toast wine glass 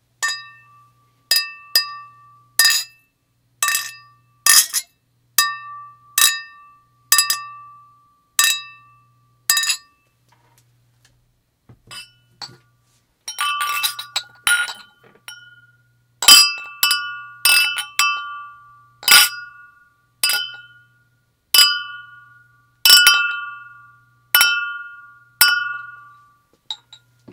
0.2s 3.0s, 13.3s 20.9s

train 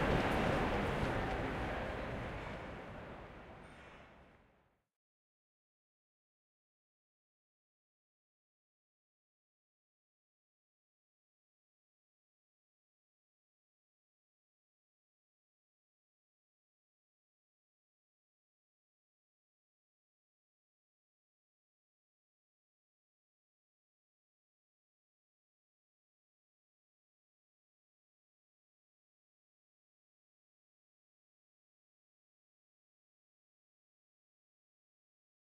0.0s 4.7s

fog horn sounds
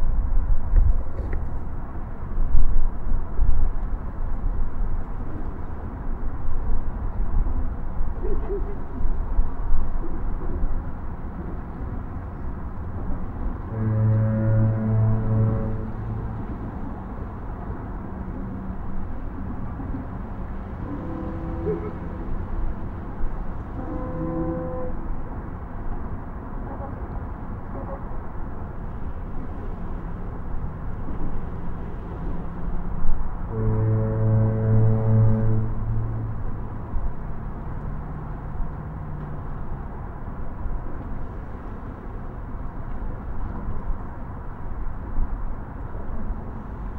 13.2s 25.8s, 31.0s 39.6s

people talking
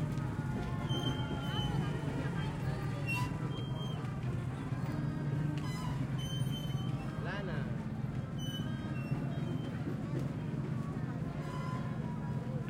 0.0s 5.7s, 9.1s 12.6s

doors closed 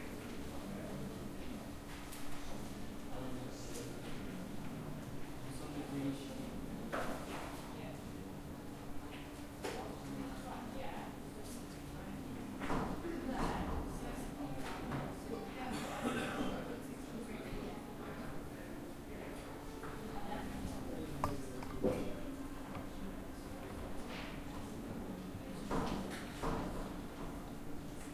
20.6s 24.0s

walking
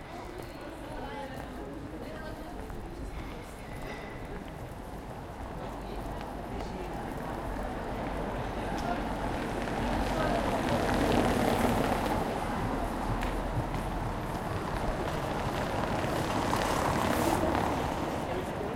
11.5s 18.2s

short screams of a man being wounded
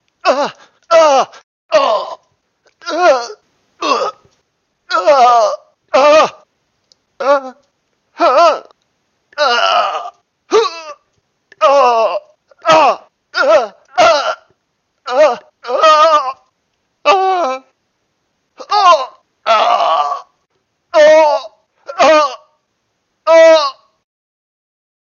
0.2s 2.2s, 4.9s 6.4s, 9.4s 11.0s, 11.6s 14.5s, 15.1s 16.4s, 18.6s 20.3s, 21.0s 22.5s, 23.3s 23.9s

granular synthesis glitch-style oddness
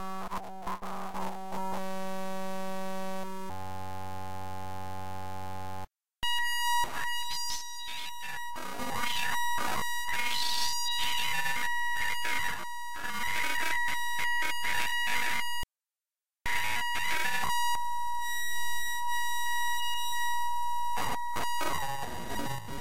7.0s 15.4s, 21.0s 22.8s

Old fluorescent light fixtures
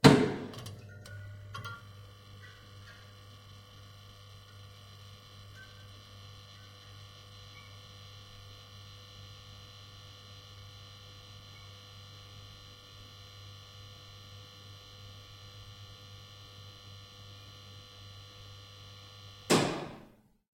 0.0s 12.4s

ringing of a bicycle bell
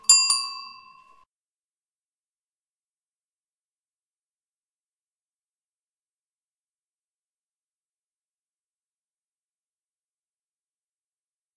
0.0s 1.2s

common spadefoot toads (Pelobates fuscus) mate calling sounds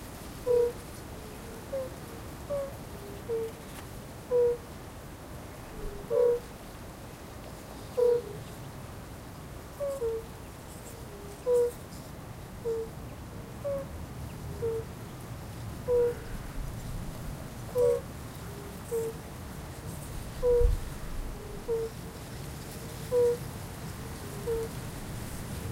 0.4s 0.8s, 2.5s 3.6s, 5.9s 6.5s, 7.9s 8.4s, 9.8s 10.3s, 11.4s 11.9s, 12.6s 13.0s, 13.6s 13.9s, 14.6s 14.9s, 15.8s 16.4s, 17.7s 18.1s, 18.8s 19.2s, 20.4s 22.0s, 23.1s 23.5s, 24.1s 24.8s

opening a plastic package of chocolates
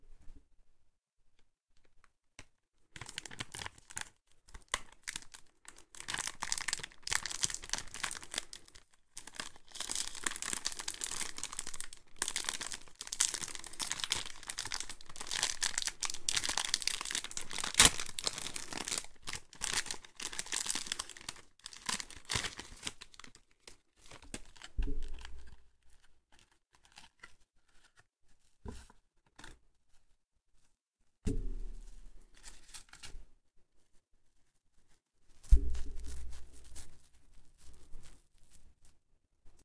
3.0s 27.4s

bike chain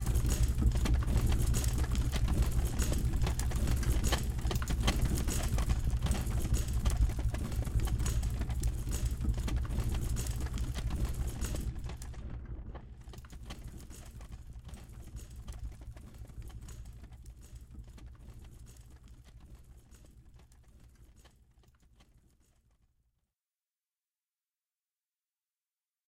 0.0s 12.1s

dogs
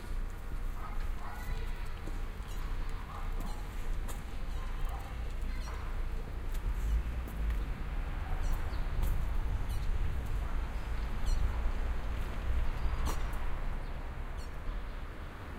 0.7s 1.8s, 2.5s 6.1s

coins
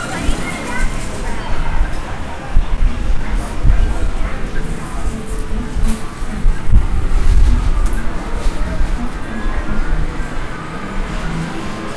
4.6s 6.2s

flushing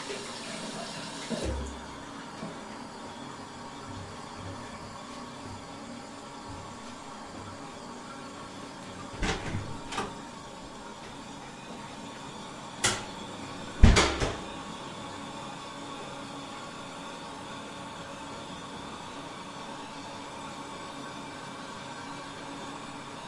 0.0s 15.2s

